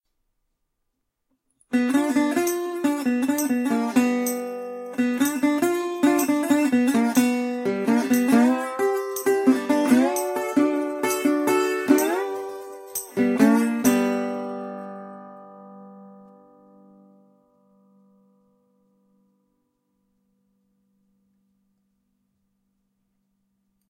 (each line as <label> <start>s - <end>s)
riff on a slide guitar 1.8s - 16.2s